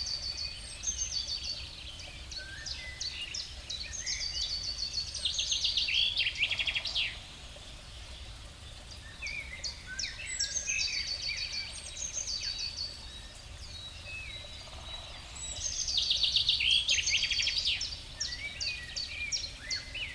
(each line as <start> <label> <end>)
0.0 small stream 20.1